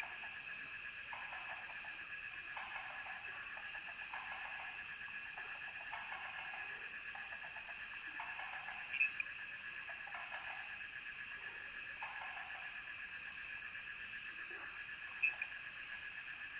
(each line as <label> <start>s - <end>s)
insects 0.0s - 16.5s
Frogs chirping 0.2s - 10.9s
Frogs chirping 11.6s - 16.5s